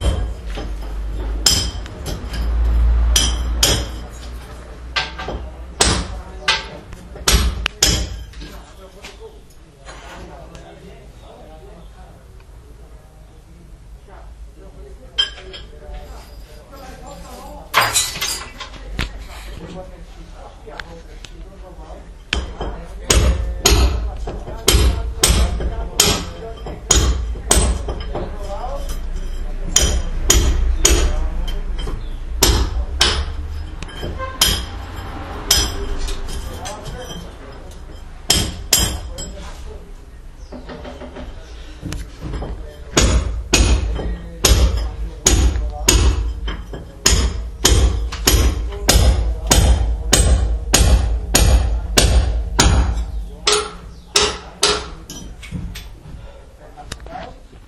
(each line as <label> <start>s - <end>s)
hiting bricks with a chisel 3.2s - 4.0s
hiting bricks with a chisel 5.0s - 8.4s
hiting bricks with a chisel 22.3s - 28.4s
hiting bricks with a chisel 29.7s - 37.2s
hiting bricks with a chisel 38.2s - 39.3s
hiting bricks with a chisel 42.3s - 55.7s